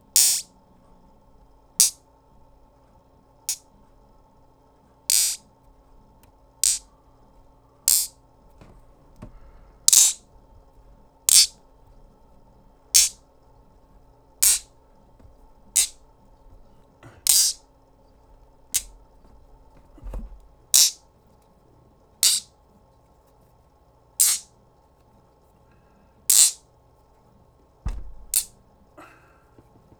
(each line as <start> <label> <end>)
0.0 Buzzing noisemaker magnets 20.1
20.7 Buzzing noisemaker magnets 21.0
22.2 Buzzing noisemaker magnets 22.5
24.2 Buzzing noisemaker magnets 24.5
26.3 Buzzing noisemaker magnets 26.6